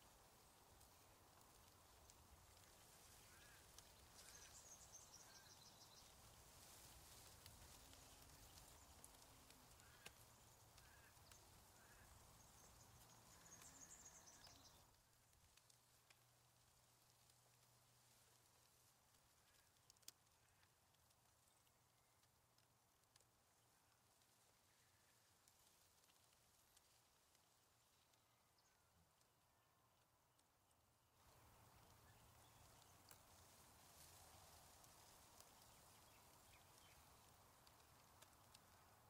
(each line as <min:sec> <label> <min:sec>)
0:00.0 Gentle Breeze in Reeds 0:39.0
0:00.4 birds 0:14.9
0:31.2 birds 0:39.0